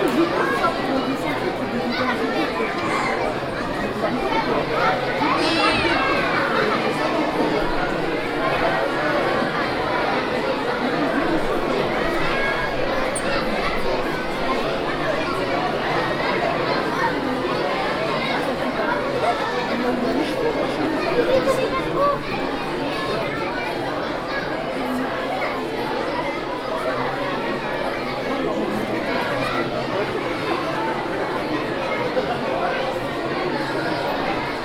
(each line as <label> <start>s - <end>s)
children 0.0s - 34.6s
crowd 0.0s - 34.6s